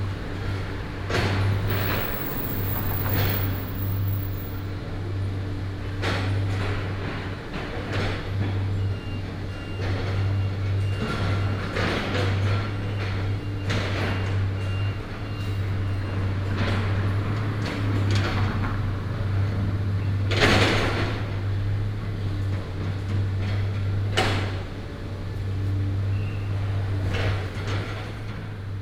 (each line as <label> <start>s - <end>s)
traffic sound 0.0s - 5.0s
Dismantle the building 1.5s - 4.7s
traffic sound 14.8s - 23.4s